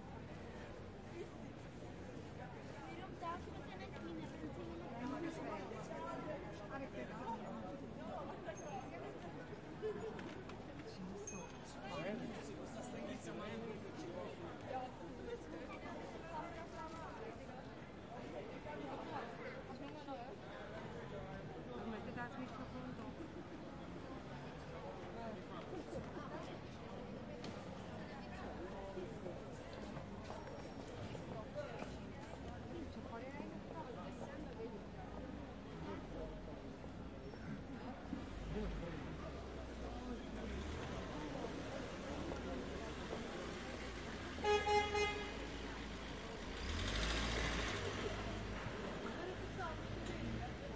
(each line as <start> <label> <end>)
0.0 pedestrians 50.7